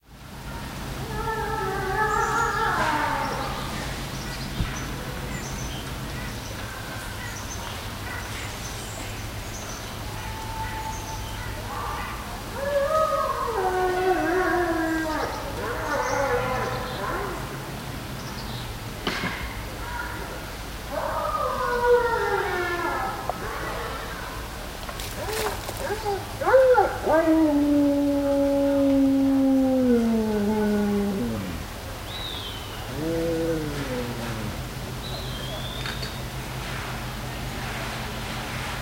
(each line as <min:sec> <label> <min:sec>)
0:01.0 dog howl 0:03.5
0:11.7 dog howl 0:17.5
0:20.9 dog howl 0:24.0
0:25.2 dog howl 0:31.7
0:32.9 dog howl 0:34.6